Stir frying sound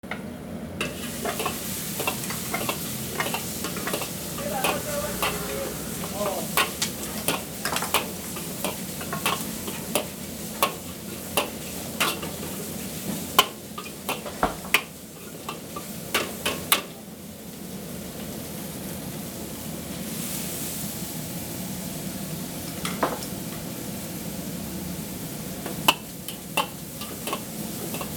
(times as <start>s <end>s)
0.8s 17.1s, 25.7s 28.1s